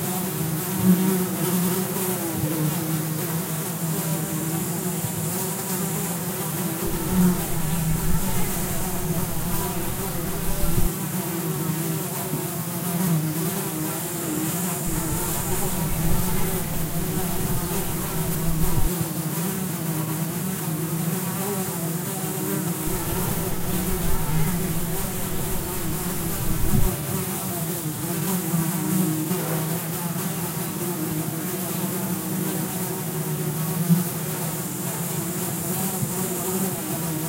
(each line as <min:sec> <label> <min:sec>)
0:00.0 bees 0:37.2
0:06.8 Flies around cow/horse shit 0:10.9
0:14.9 Flies around cow/horse shit 0:18.9
0:22.9 Flies around cow/horse shit 0:27.0